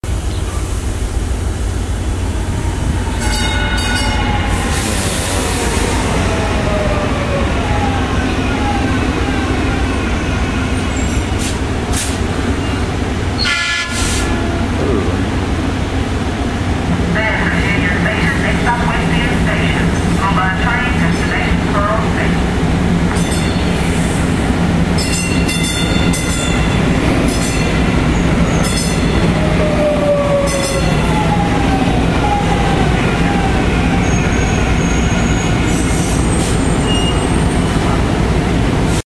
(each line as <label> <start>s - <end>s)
Train arriving and departing 0.0s - 39.0s